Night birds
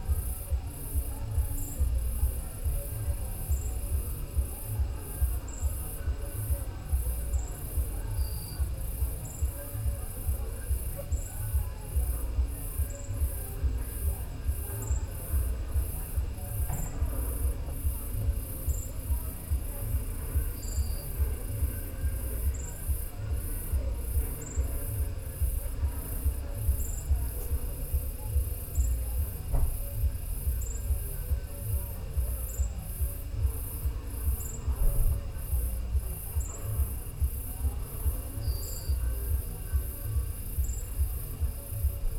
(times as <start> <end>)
18.1 25.1, 38.3 39.0